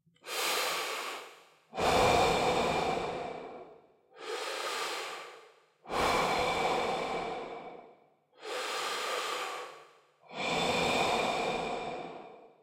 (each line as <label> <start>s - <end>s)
me breathing in and out 0.2s - 12.6s